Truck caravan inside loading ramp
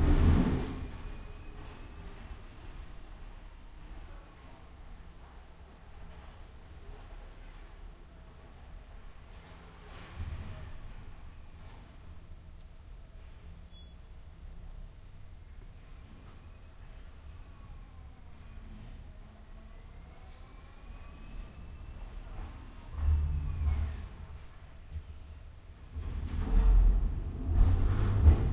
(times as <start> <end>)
0.0 3.8, 21.1 28.5